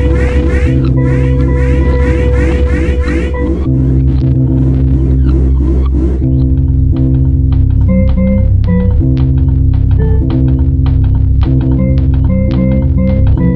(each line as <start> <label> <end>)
0.0 Music 13.5